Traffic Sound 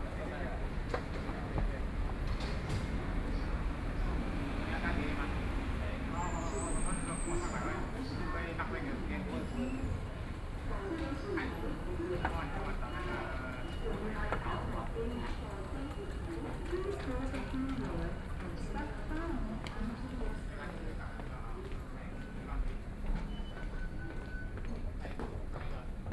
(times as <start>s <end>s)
0.0s 20.1s